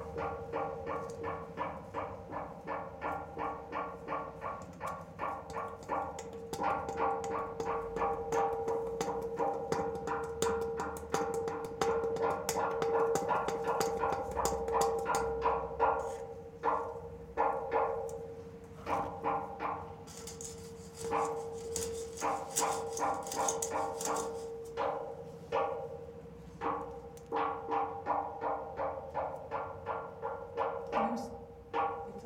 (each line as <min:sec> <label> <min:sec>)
0:00.0 playing concrete pole 0:26.0